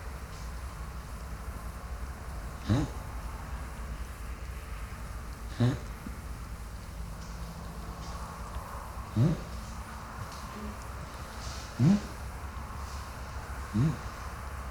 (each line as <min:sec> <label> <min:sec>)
0:02.4 Encounter with a boar 0:03.3
0:05.4 Encounter with a boar 0:14.4